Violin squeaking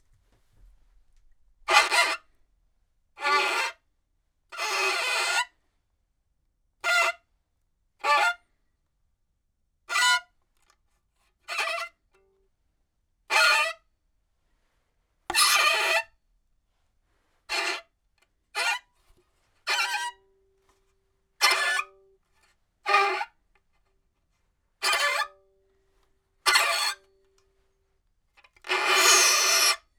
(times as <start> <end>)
15.3 15.8